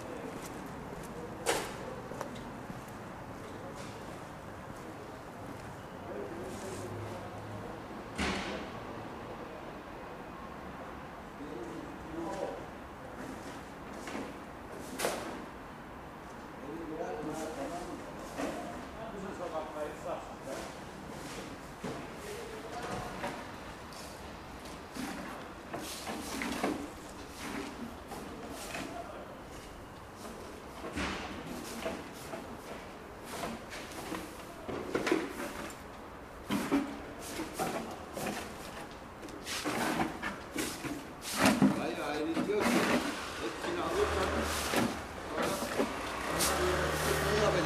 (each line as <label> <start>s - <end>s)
road sweepers 0.0s - 10.2s
road sweepers 17.2s - 47.6s
home delivery courier 21.2s - 47.6s
plastic recycler 39.6s - 47.6s